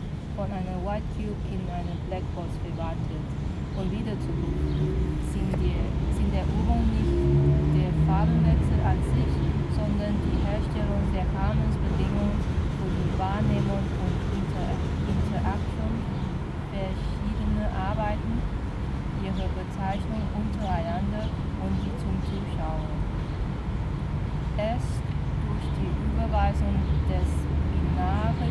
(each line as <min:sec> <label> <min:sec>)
0:00.0 3-lane road 0:28.5
0:00.4 group reads 0:18.6
0:19.2 group reads 0:23.3